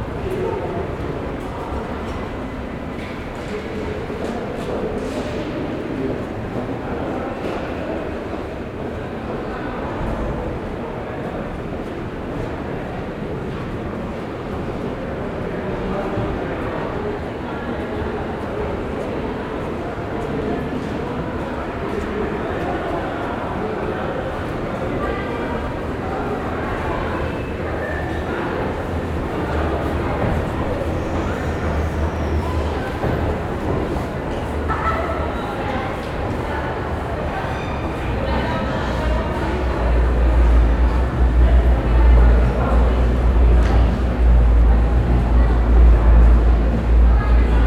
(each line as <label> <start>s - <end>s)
voices 0.0s - 47.6s